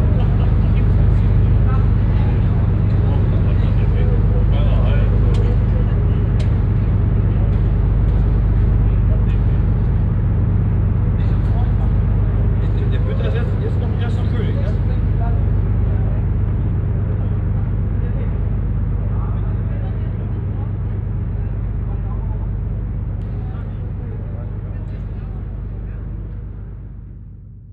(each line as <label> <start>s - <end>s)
constant deep drone sound of the ship motor 0.0s - 27.7s
conversation of a group of german men 0.0s - 10.3s
conversation of a group of german men 11.2s - 16.3s